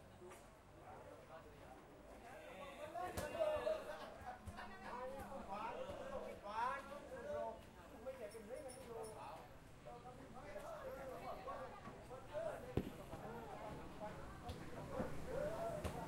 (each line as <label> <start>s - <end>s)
customers all around 0.0s - 16.0s